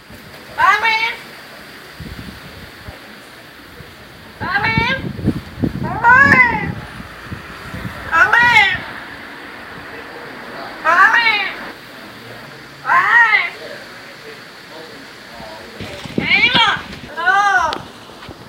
couple talking 0.4 - 17.9
wind noise 1.6 - 11.8
caged parrot talking to itself 5.8 - 7.0
caged parrot talking to itself 8.0 - 9.3
caged parrot talking to itself 10.8 - 11.7
wind noise 15.4 - 18.4

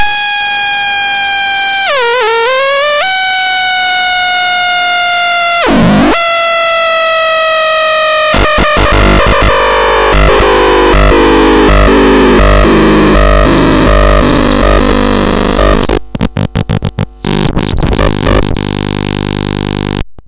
simple oscillators 0.0 - 20.2
siren 0.1 - 16.0

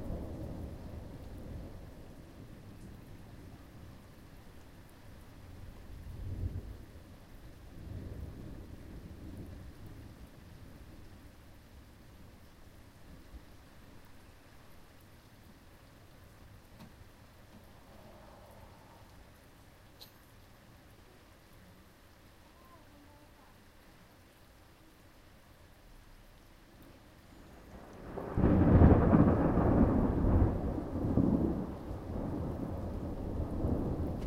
rain 0.0 - 34.2
thunder 27.4 - 34.2

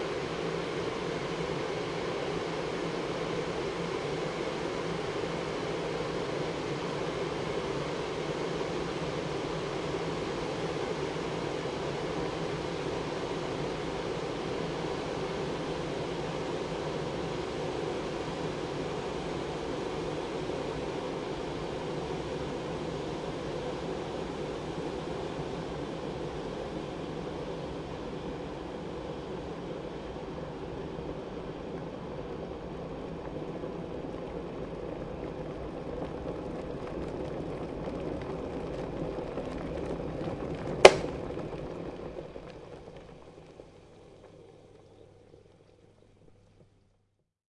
watercooker doing it's thing 38.7 - 45.4

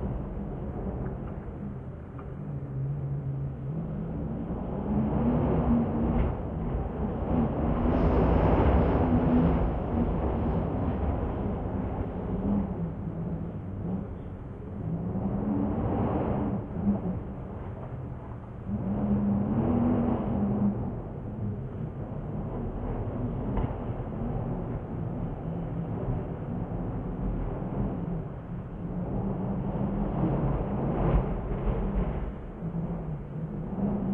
wind 0.0 - 34.1

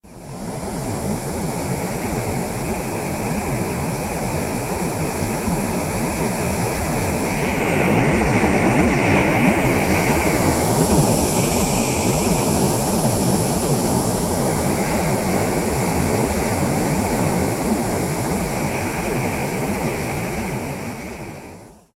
jet engine 0.0 - 21.9

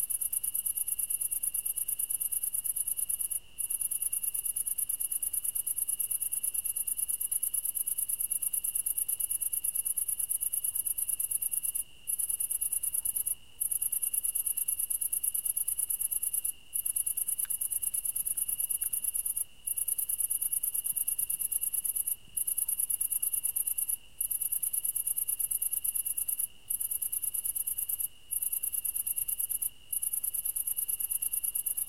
cricket 0.0 - 31.8

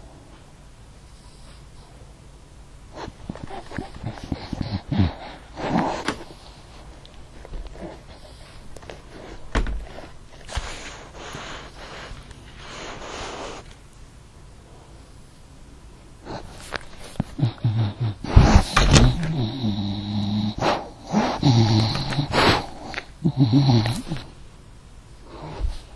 English Bulldog sniffing the microphone 7.8 - 13.7
English Bulldog sniffing the microphone 16.2 - 23.0

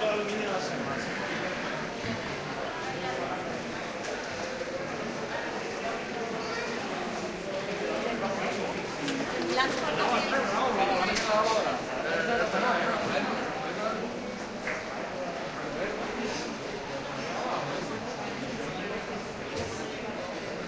people talking 0.0 - 20.6

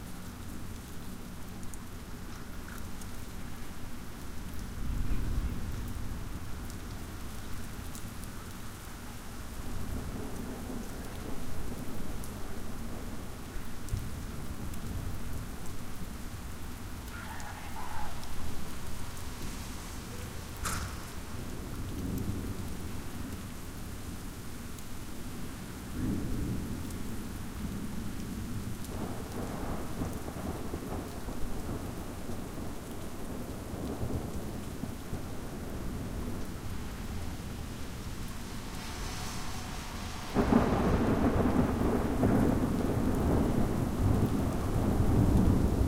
rain 0.0 - 45.8
thunder 9.8 - 13.2
thunder 17.2 - 22.9
thunder 28.5 - 45.8

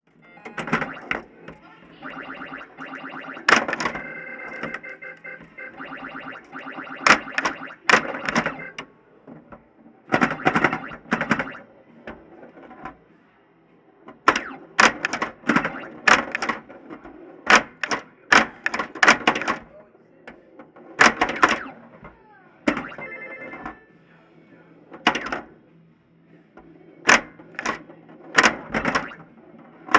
internal noises of an old pinball game machine 0.1 - 25.7
internal noises of an old pinball game machine 26.4 - 29.9

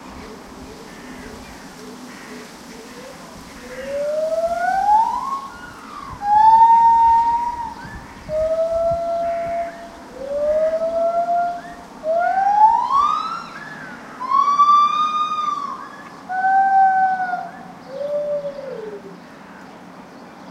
female Lar Gibbon calling 3.0 - 19.2

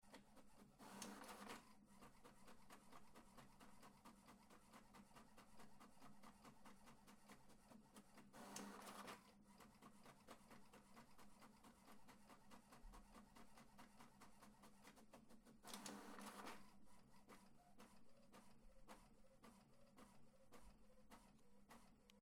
HP Printer - Printing 0.0 - 22.2

